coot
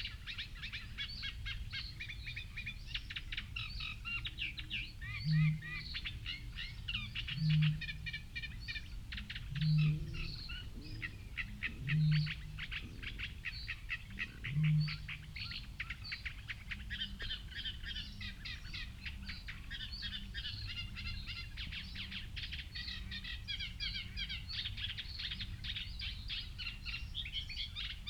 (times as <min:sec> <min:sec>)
0:09.2 0:16.0